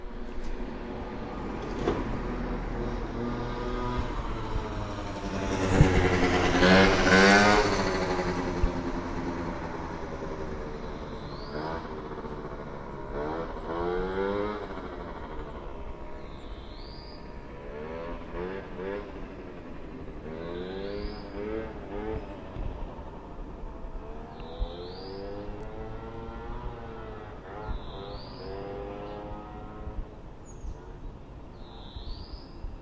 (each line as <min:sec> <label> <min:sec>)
0:00.0 Moped pass by 0:32.8